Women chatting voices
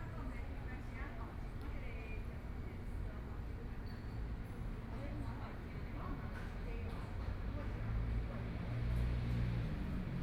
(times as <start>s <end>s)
0.0s 3.8s